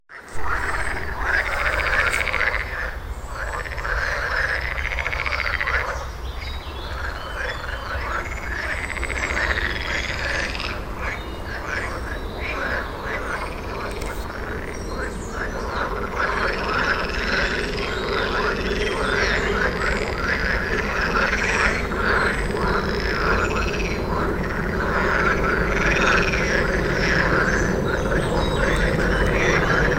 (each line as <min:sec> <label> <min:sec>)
0:00.1 Frogs croaking in a pond 0:29.9